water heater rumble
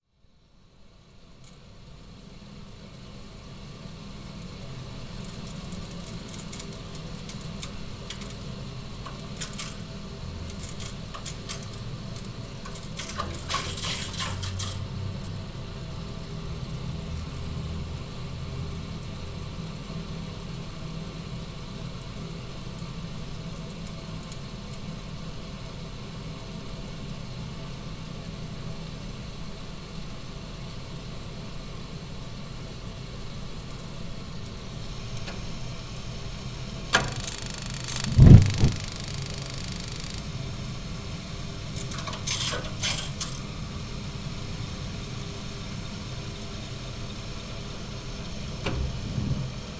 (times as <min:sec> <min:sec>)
0:35.0 0:40.2